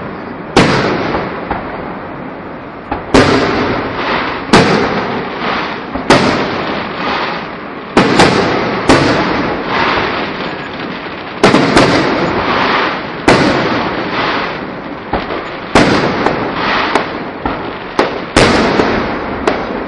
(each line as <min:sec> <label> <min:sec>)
0:00.0 Fireworks on the street 0:19.8